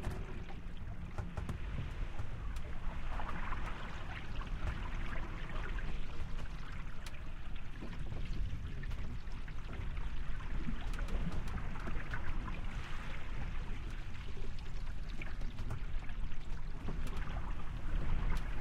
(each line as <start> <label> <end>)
0.0 creak 2.7
0.0 Sailboat Sailing Interior 18.6
0.0 water 18.6